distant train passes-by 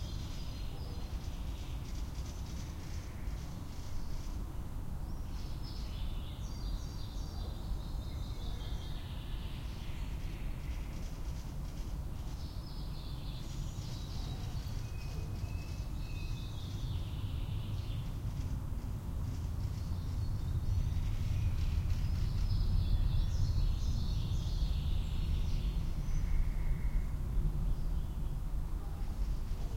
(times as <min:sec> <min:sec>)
0:13.5 0:29.7